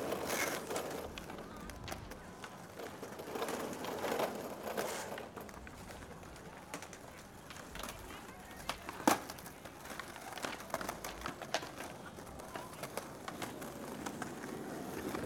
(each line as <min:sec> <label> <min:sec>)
0:00.0 skateboarders riding about 0:15.2